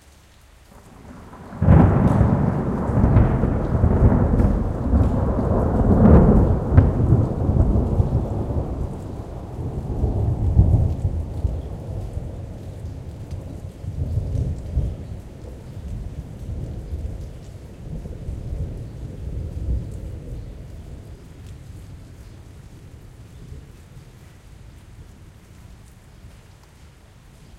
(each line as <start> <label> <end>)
0.0 rain 27.5
0.7 thunder 22.3